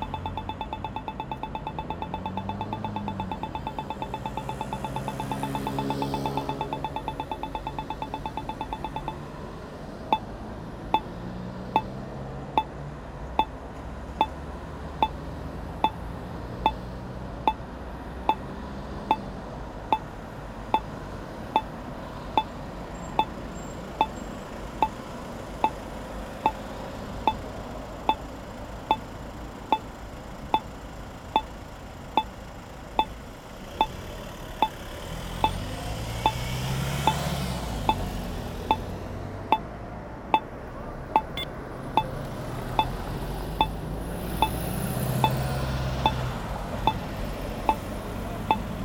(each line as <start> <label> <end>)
0.0 red light allowing people to cross the street 12.8
0.0 traffic jam 48.8
33.0 red light allowing people to cross the street 39.7
41.1 red light allowing people to cross the street 48.8